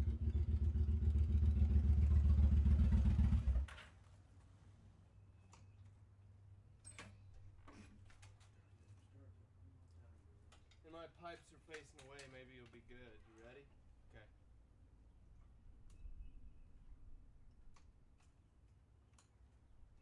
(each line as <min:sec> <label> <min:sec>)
0:00.0 Drive by motorcycle 0:03.9